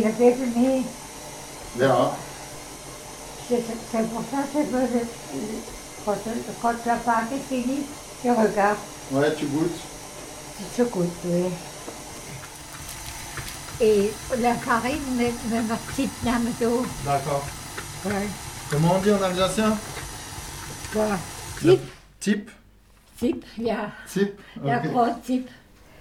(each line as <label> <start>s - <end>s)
cooking Spretz Bredele 0.0s - 22.3s